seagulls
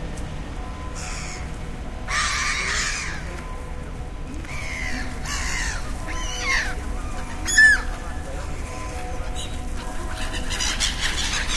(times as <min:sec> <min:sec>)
0:00.9 0:01.5, 0:02.1 0:03.5, 0:04.4 0:11.5